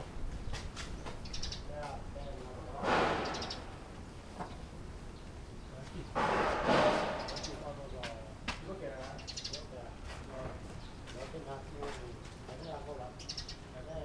Wind 0.0 - 14.0
Birds singing 0.4 - 6.2
Birds singing 6.9 - 10.0
Birds singing 10.6 - 11.8
Birds singing 12.5 - 14.0

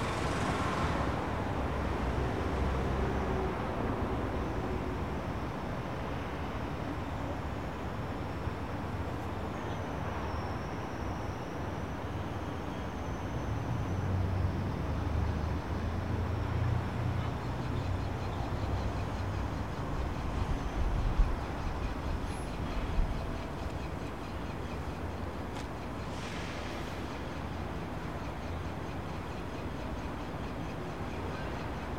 Commercial and private aircraft 0.0 - 14.8
Cars, trucks and busses 0.0 - 31.9
Pedestrians 0.0 - 31.9

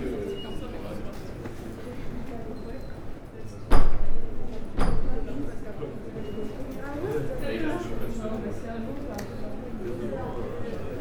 Students are discussing 0.0 - 11.0

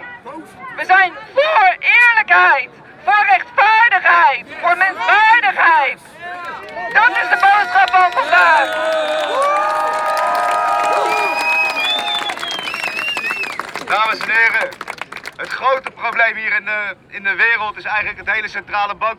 speech 0.0 - 9.0
speech 15.4 - 19.1

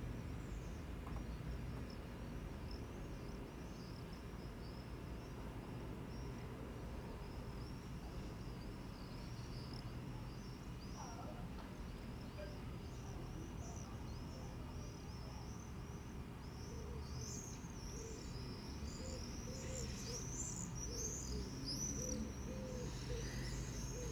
distant pigeons coo 18.1 - 24.1

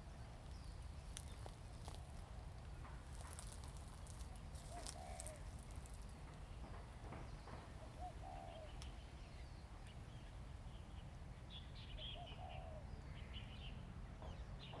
Wind 0.0 - 14.8
Birds singing 3.1 - 14.8

